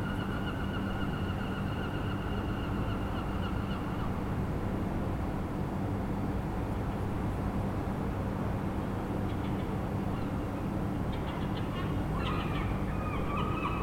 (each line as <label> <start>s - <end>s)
Seagulls 11.1s - 13.8s